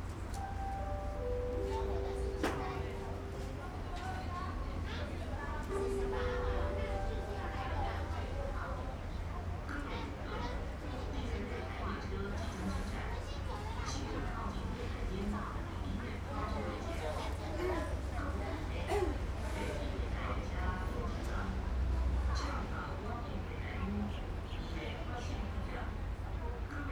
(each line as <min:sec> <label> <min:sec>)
0:00.0 Train traveling through 0:04.0
0:05.7 Train traveling through 0:09.3